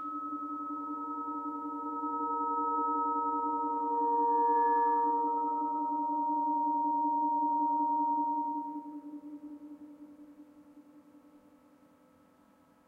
0.0s microtonal, aeolian, acoustic guitars 11.6s

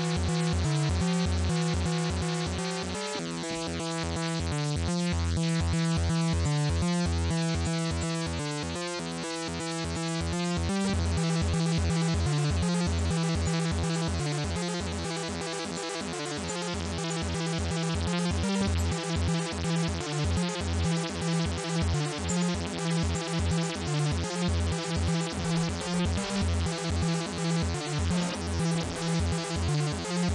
11.0s synth 30.3s

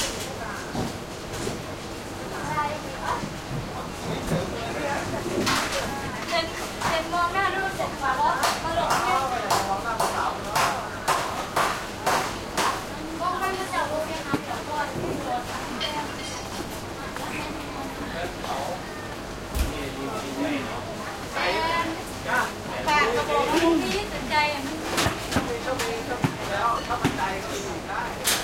12.4s busy voices 28.2s

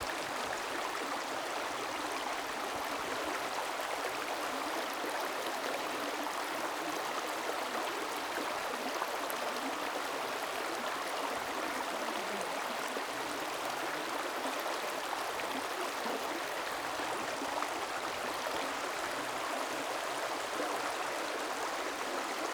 0.0s Flowing river stream 22.5s

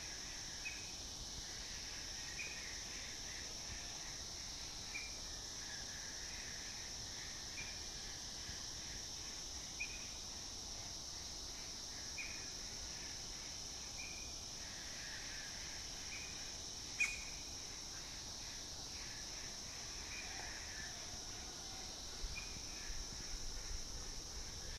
0.0s cicadas 24.7s
11.7s birds 23.8s

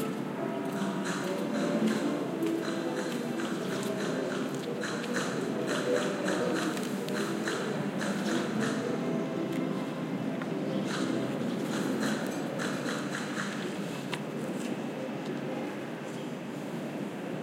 0.0s voices 17.3s
0.0s city rumble 17.4s

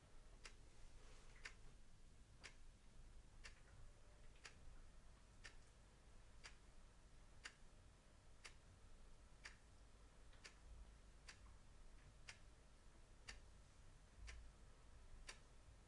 3.4s Mechanical chess clock ticking 4.7s
5.4s Mechanical chess clock ticking 5.8s
6.4s Mechanical chess clock ticking 6.7s
7.4s Mechanical chess clock ticking 7.6s
10.3s Mechanical chess clock ticking 12.6s
14.3s Mechanical chess clock ticking 14.5s
15.2s Mechanical chess clock ticking 15.5s

